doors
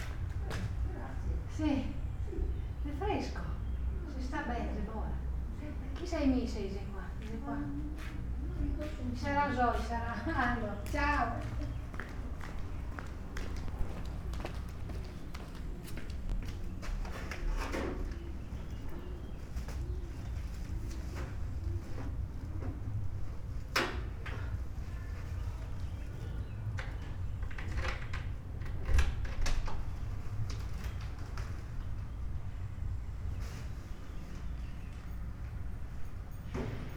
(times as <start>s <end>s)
20.9s 32.2s